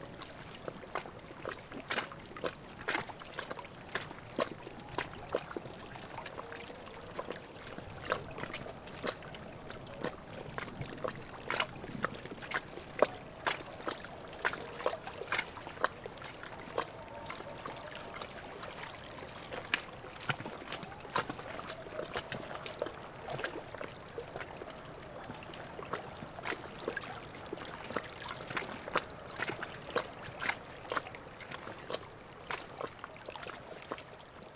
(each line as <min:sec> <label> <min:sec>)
0:00.0 Wavelets at the edge of the lake 0:34.5